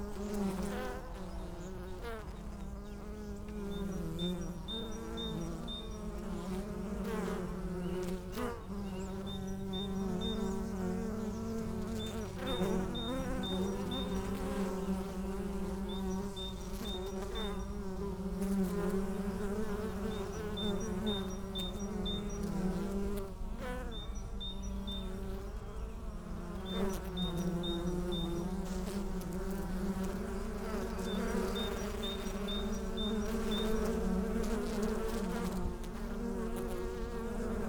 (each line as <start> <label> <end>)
0.0 busy bees 37.6